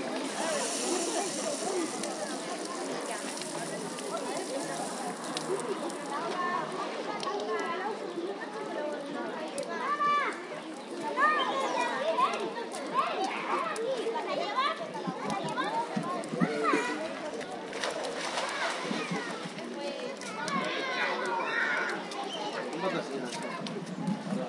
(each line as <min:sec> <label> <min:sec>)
0:00.0 shower 0:06.6
0:00.0 splash 0:07.0
0:00.0 kids playing 0:24.4
0:17.6 splash 0:19.4